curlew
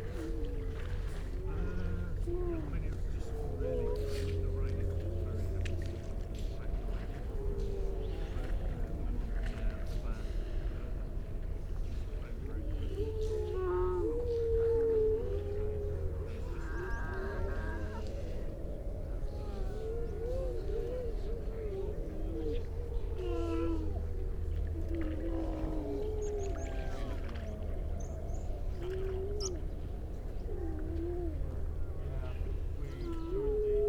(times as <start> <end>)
12.9 33.8